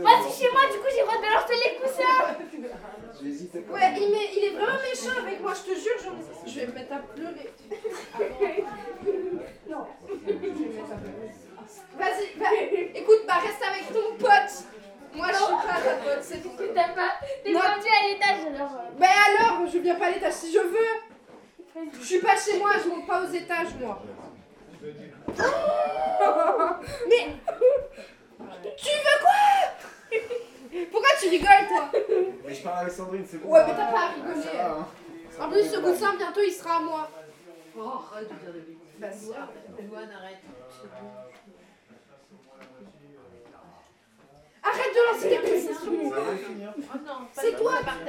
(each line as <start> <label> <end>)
0.0 Children playing 3.1
3.7 Children playing 21.1
25.3 Children playing 32.4
44.6 Children playing 48.0